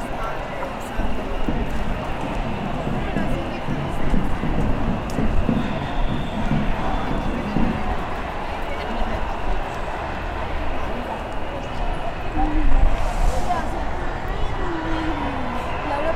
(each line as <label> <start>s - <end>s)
Manifestación social 11.6s - 16.1s